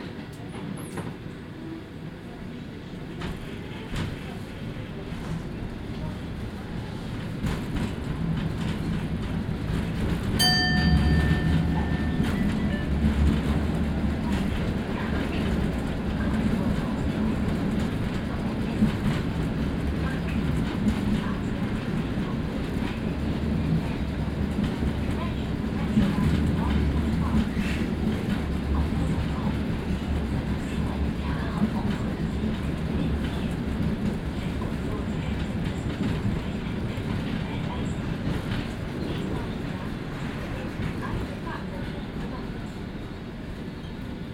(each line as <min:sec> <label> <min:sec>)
0:03.2 Old model tram, lot of vibrating sounds 0:40.9